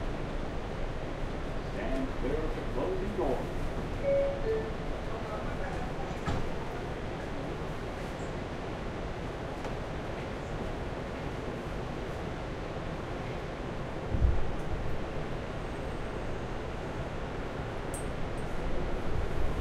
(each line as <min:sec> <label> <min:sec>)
0:00.0 train 0:19.6
0:03.9 Train Doors Open 0:06.8